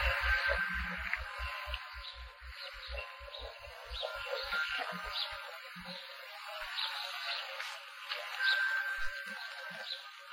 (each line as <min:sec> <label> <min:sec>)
0:00.0 birds 0:10.3